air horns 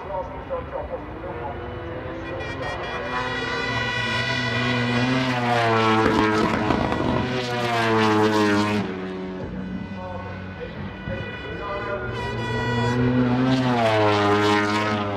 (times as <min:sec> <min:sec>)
0:02.2 0:06.5, 0:09.7 0:14.7